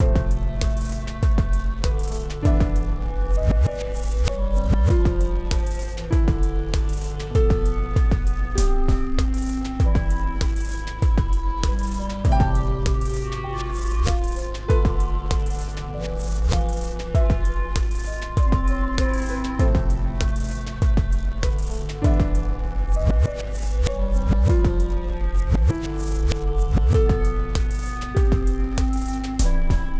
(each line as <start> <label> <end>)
0.0 Crunchy Beat 29.4